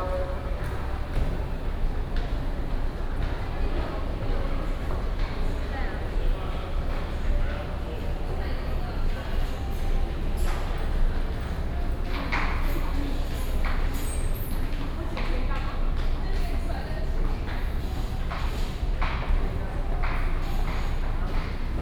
Traffic sound 0:00.0 - 0:02.0

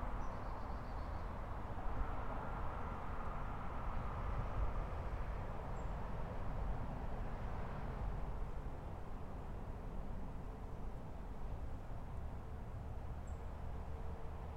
traffic sounds 0:00.0 - 0:14.5

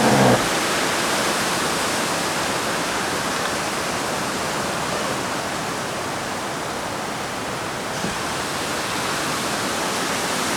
Two tree trunks rubbing and creaking together 0:00.0 - 0:00.5

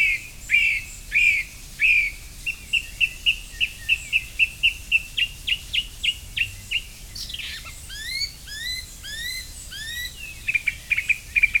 sounds from the nearby village 0:00.0 - 0:11.6

